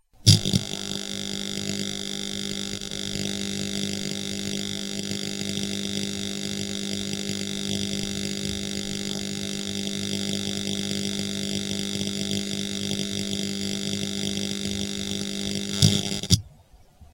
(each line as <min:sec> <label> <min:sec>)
0:00.0 Arc Welder, zapping 0:16.4